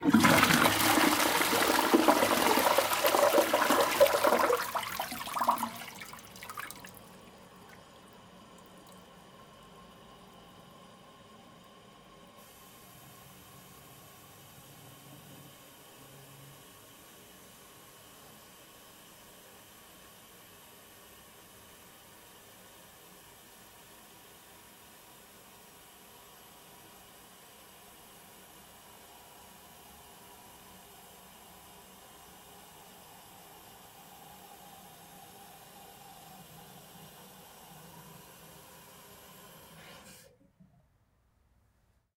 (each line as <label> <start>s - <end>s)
Flushing Toilet 0.0s - 18.2s
Flushing Toilet 31.4s - 40.3s